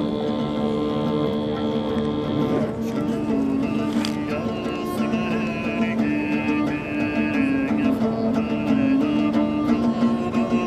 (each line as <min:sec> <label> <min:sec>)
0:00.0 Musicians 0:10.6